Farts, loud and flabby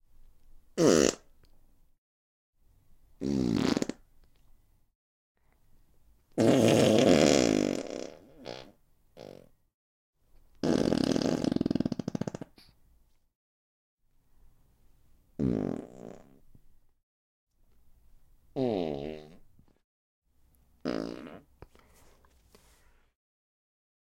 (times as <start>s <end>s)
0.8s 1.3s, 3.2s 4.1s, 6.4s 9.5s, 10.6s 12.7s, 15.4s 16.4s, 18.6s 19.4s, 20.8s 21.5s